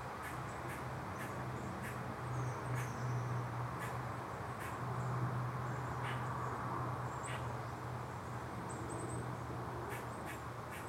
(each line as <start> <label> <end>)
0.0 traffic 10.8